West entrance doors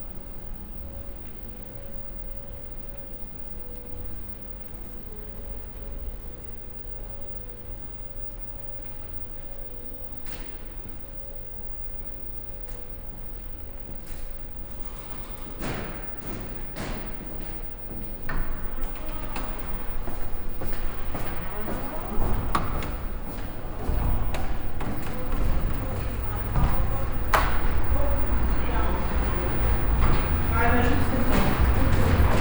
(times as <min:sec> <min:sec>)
0:10.1 0:32.4